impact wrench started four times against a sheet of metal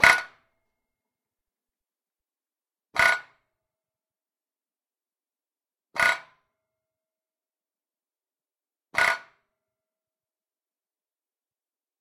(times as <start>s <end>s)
0.0s 0.4s